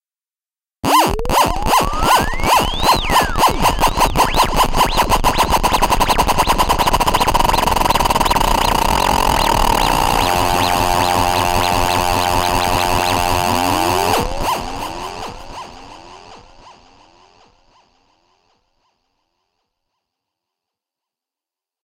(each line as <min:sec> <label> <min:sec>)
0:00.8 riser 0:16.8